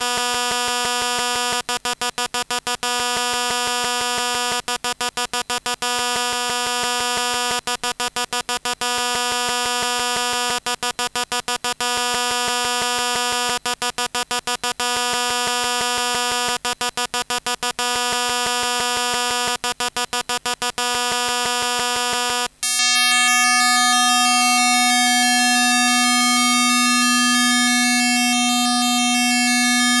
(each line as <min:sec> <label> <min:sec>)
0:22.6 Christmas Tree LED Electromagnetic Field 0:30.0